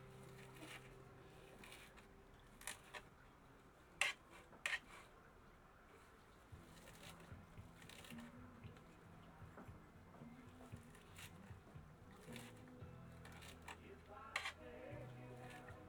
music from the nearby campsite 0:00.0 - 0:03.4
music from the nearby campsite 0:06.4 - 0:15.8

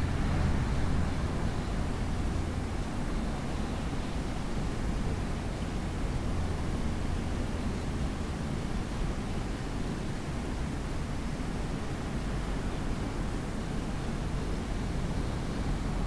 traffic outside 0:00.0 - 0:08.6

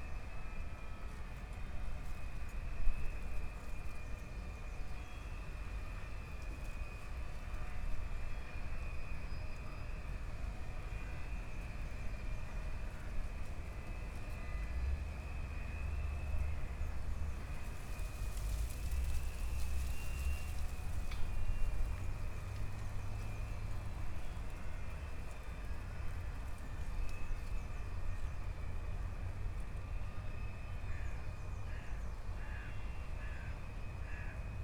rusty ferris wheel starts moving and sqeaking in the wind 0:05.4 - 0:30.9

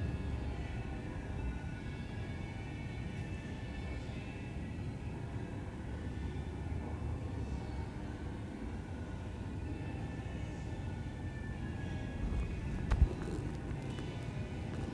planes above 0:11.9 - 0:14.9

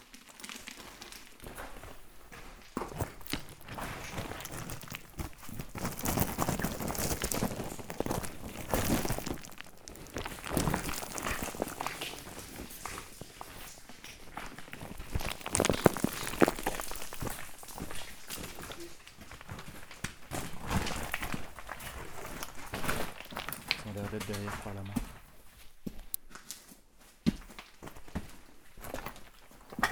Small cements rocks are falling from everywhere 0:00.0 - 0:29.9

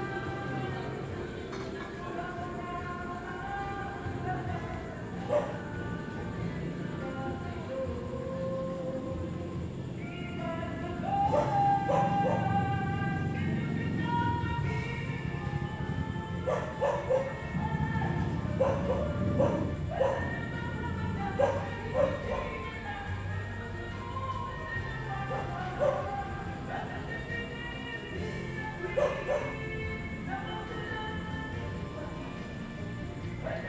Home-karaoke 0:00.0 - 0:33.6
cars 0:00.0 - 0:33.6

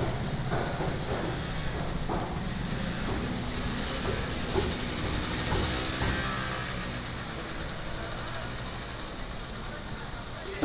Walking in the indoor market 0:00.0 - 0:10.6

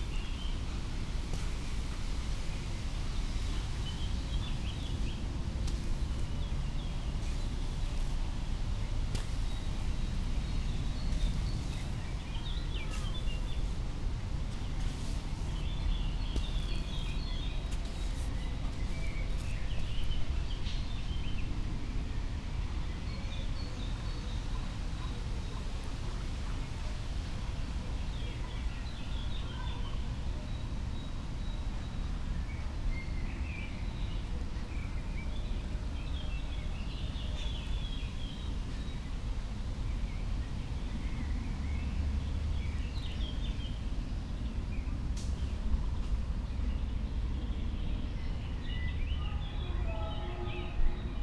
slowly walking the dunes 0:00.0 - 0:21.8

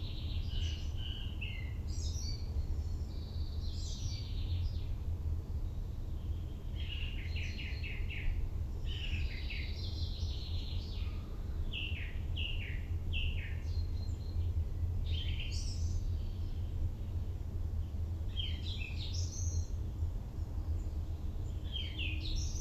Birds 0:20.7 - 0:22.6

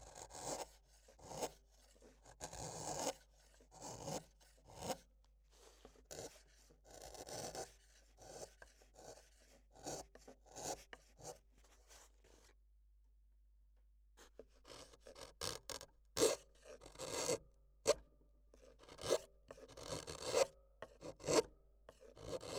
drawing with a pencil 0:00.1 - 0:12.5
Carving A Viola 0:00.2 - 0:05.0
Carving A Viola 0:05.6 - 0:11.9
drawing with a pencil 0:18.6 - 0:22.5
Carving A Viola 0:18.8 - 0:22.5

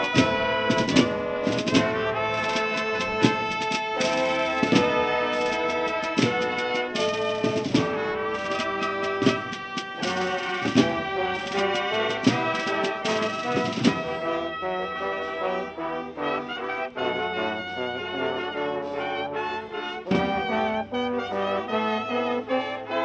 parishioners walk the streets in procession 0:00.0 - 0:23.0
playing pieces of music 0:00.0 - 0:23.0

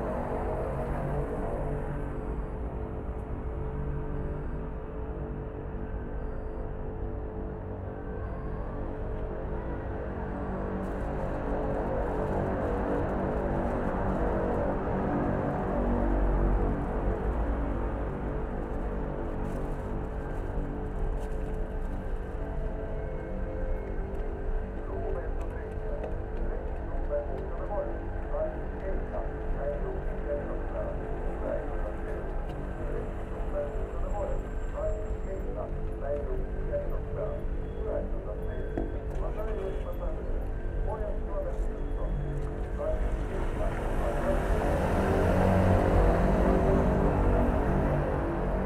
traffic 0:00.0 - 0:48.6

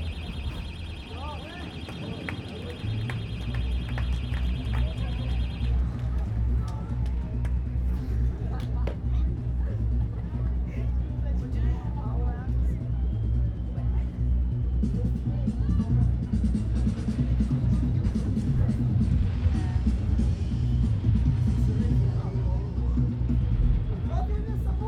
car alarm 0:00.0 - 0:06.5
music 0:00.0 - 0:24.8
voices from the crowd 0:00.0 - 0:24.8

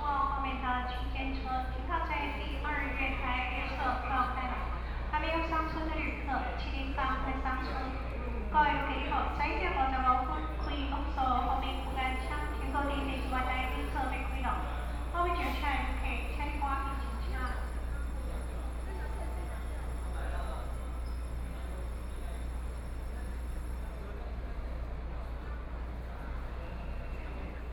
Trains arrive at the station 0:00.0 - 0:27.7
Station broadcast messages 0:10.6 - 0:21.4

